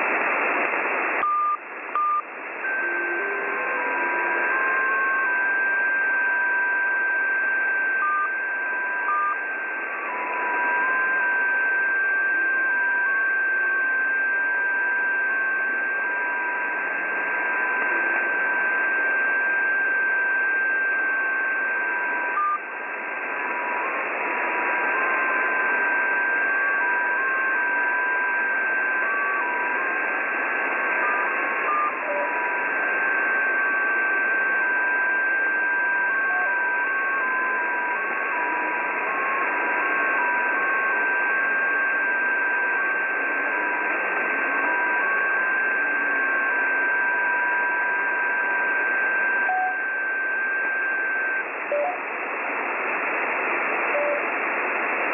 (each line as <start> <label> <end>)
0.0 short break of static between each transmission 6.1
49.3 little bleeps and blips 52.0